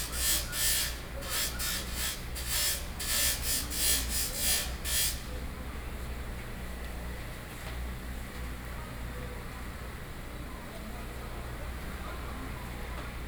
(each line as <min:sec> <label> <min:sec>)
0:00.0 Knife grinding sound 0:05.2